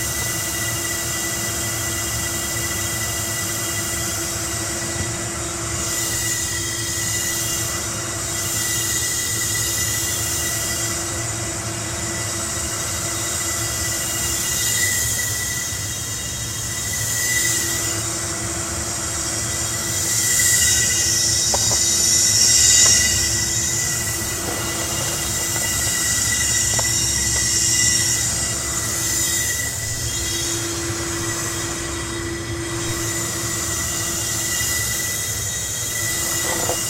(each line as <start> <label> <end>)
0.0 gas pipe 36.8